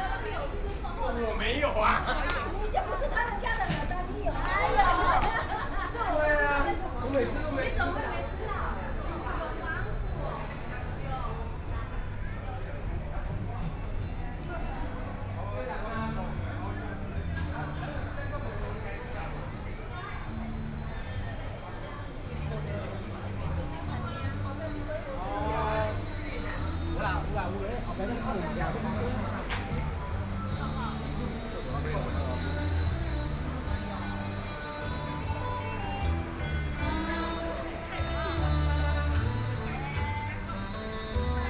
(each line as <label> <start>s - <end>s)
Many tourists 0.0s - 41.4s
Walking through the Tourism Winery 0.0s - 41.4s